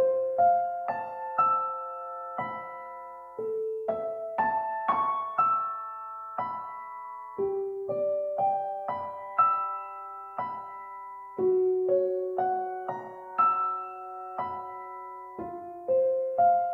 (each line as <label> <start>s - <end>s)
Piano 0.0s - 16.7s